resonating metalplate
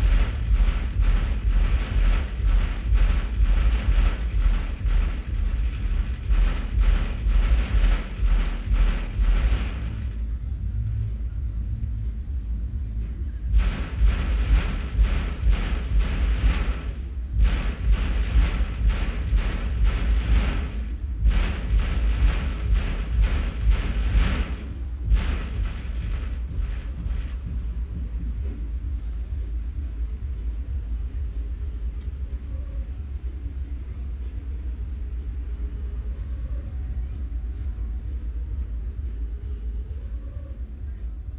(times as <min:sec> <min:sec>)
0:00.0 0:10.3, 0:13.5 0:28.0